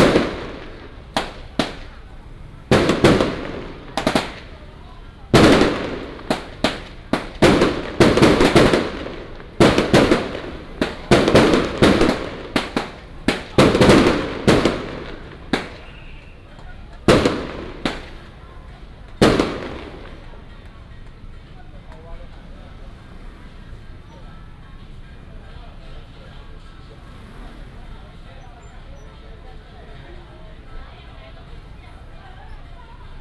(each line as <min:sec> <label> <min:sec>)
0:00.0 Fireworks 0:24.0
0:00.0 Traffic sound 0:33.2
0:00.0 firecrackers 0:33.2
0:25.2 Fireworks 0:29.0